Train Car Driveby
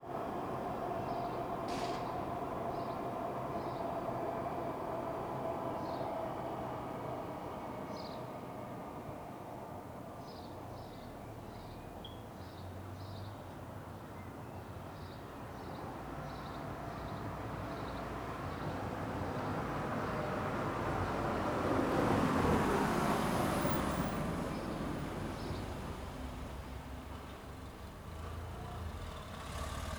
0.0s 9.4s

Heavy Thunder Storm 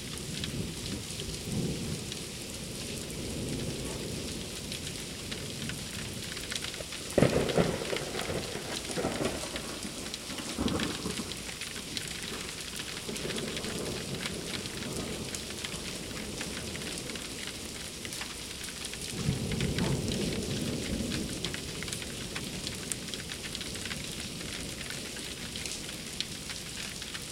7.1s 11.6s, 19.1s 21.8s

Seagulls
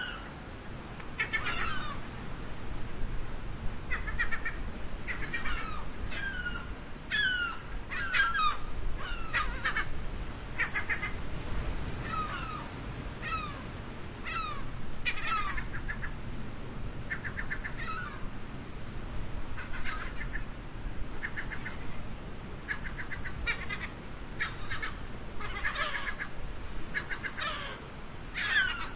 0.0s 0.4s, 1.2s 2.1s, 3.9s 10.0s, 10.6s 11.2s, 12.0s 16.2s, 17.1s 18.3s, 19.5s 20.6s, 21.2s 22.0s, 22.6s 28.9s

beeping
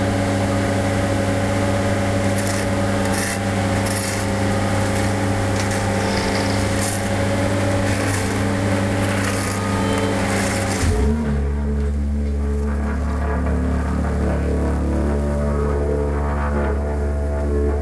3.8s 11.3s

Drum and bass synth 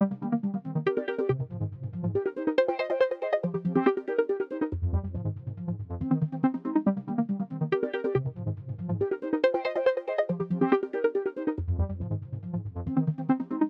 4.8s 6.5s

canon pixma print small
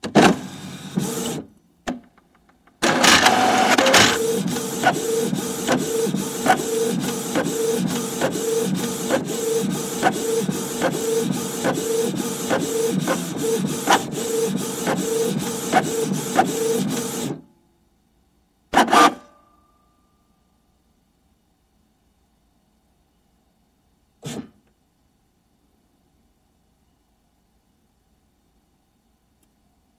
2.8s 17.4s

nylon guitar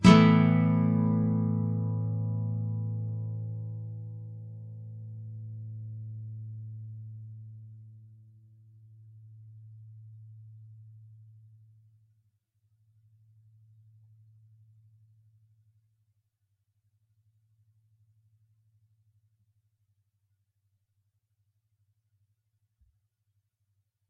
0.0s 7.9s

